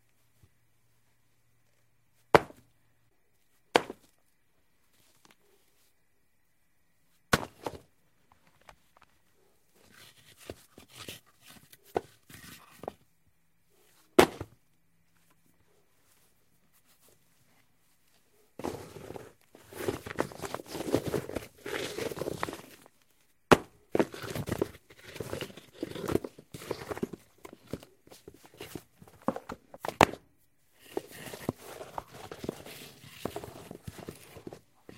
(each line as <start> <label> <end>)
2.3 dropping them on softball sized rocks 2.7
3.7 dropping them on softball sized rocks 4.2
7.3 dropping them on softball sized rocks 9.1
14.2 dropping them on softball sized rocks 14.6
18.6 dropping them on softball sized rocks 34.9